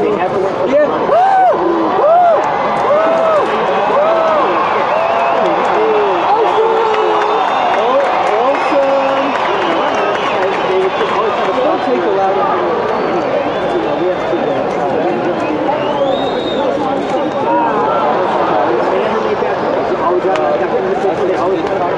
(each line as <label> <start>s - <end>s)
baseball crowd sounds 0.0s - 21.9s